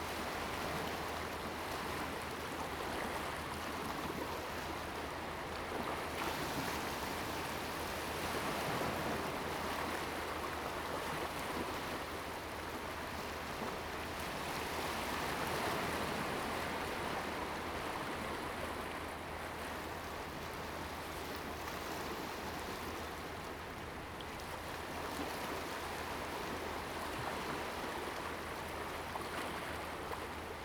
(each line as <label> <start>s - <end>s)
Waves 0.0s - 30.6s